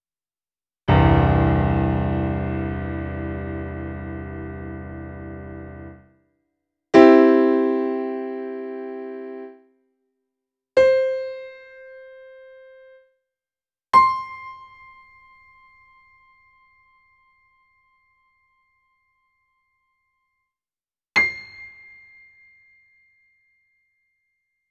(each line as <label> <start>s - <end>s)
electric piano, all not broken C with short sustain 0.9s - 6.0s